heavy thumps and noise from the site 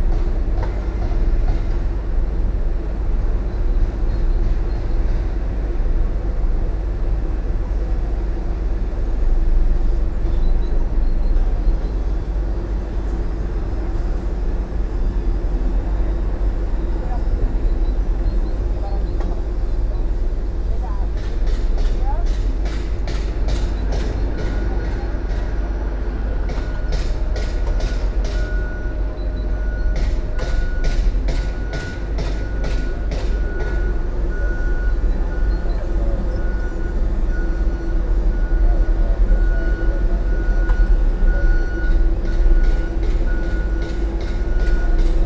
0.0s 5.4s, 18.1s 45.2s

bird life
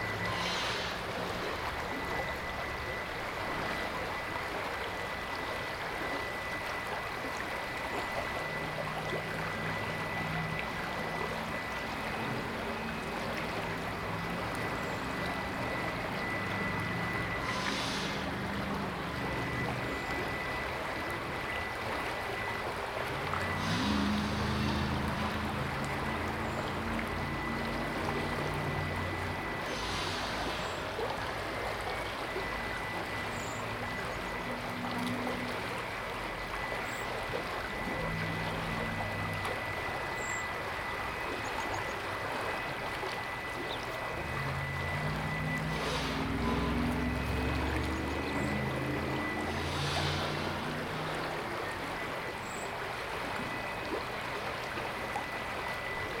0.0s 2.3s, 36.4s 52.8s

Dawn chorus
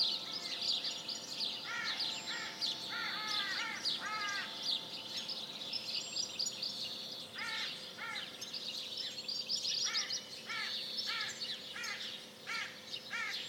0.0s 8.6s

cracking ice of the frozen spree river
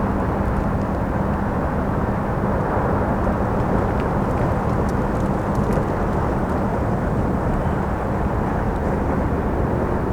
3.2s 8.0s

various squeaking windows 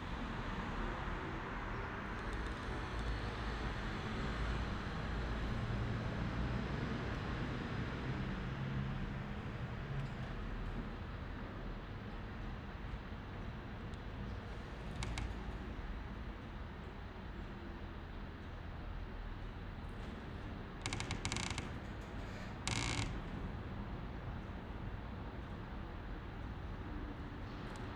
20.9s 23.3s

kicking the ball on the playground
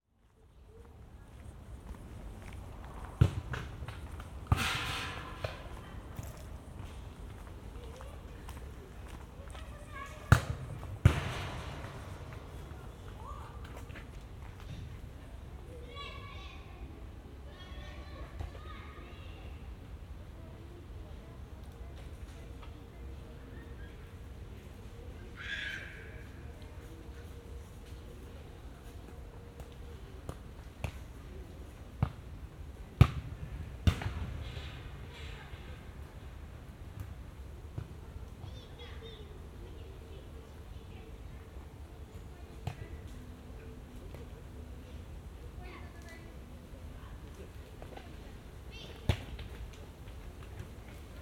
3.0s 5.8s, 10.3s 12.5s, 33.0s 34.7s

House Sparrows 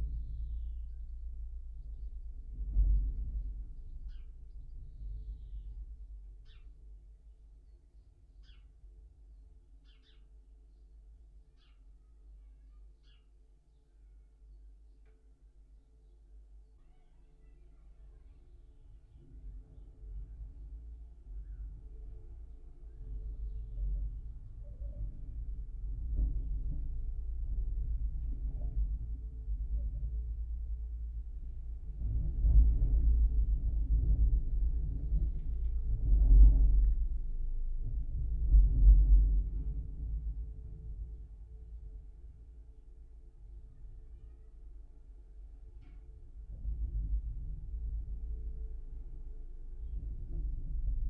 9.8s 10.3s, 11.6s 11.9s

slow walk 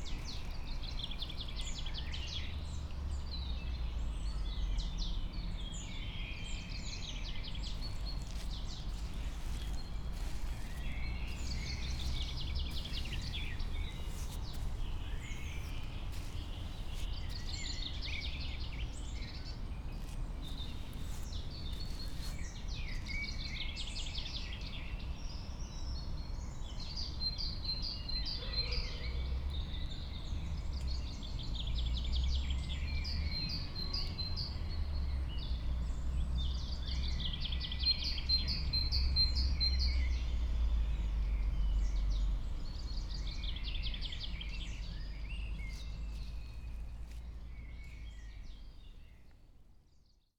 0.0s 1.9s, 7.4s 23.7s, 45.4s 49.5s

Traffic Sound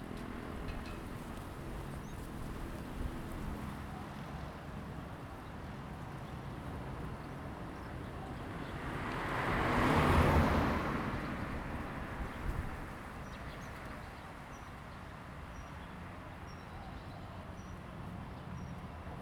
8.5s 13.2s

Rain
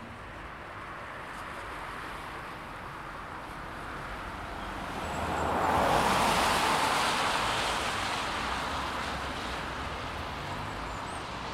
3.0s 11.5s

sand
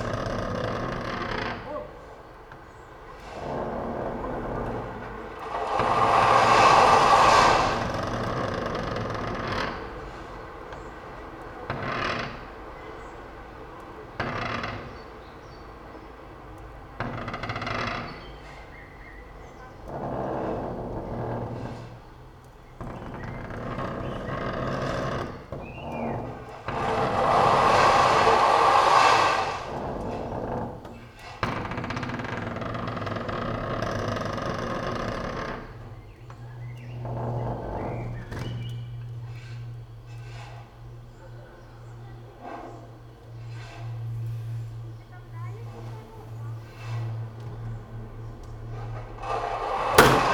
5.3s 9.8s, 22.9s 30.5s, 48.7s 50.3s

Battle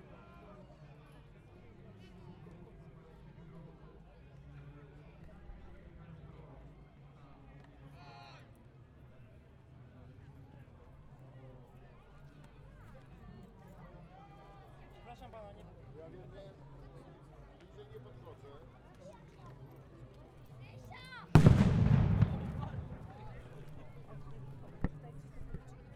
21.4s 24.0s

